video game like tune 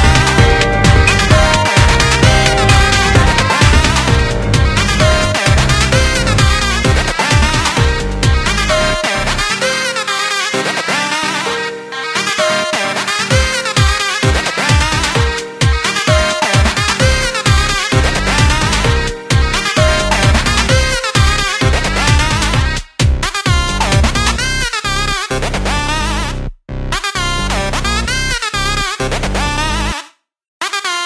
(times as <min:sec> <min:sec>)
0:00.0 0:10.3, 0:11.2 0:22.8